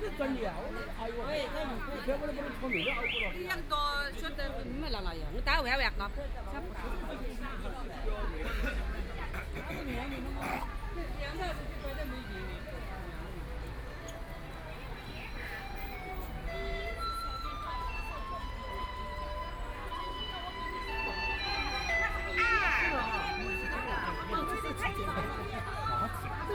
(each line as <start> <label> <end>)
0.0 walking in the Street 26.5